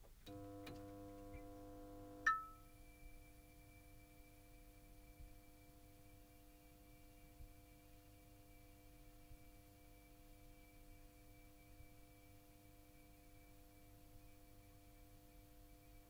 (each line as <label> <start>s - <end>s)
fluorescent light being turned on 0.2s - 15.1s